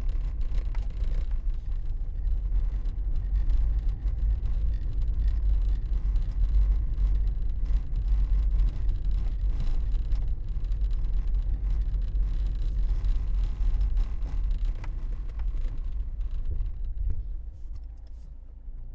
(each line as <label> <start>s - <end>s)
car moving on cobblestones 0.0s - 18.9s